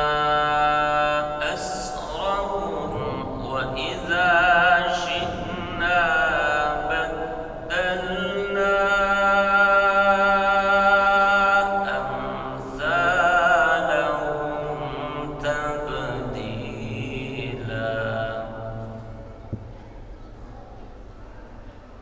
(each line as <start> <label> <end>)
0.0 Quran recitation 20.0